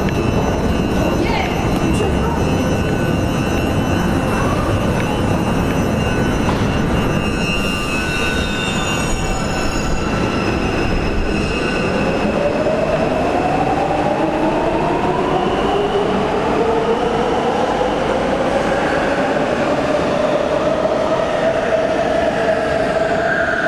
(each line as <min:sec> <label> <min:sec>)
0:00.0 walking from stairs to train 0:09.3
0:00.0 departing and arriving trains 0:23.6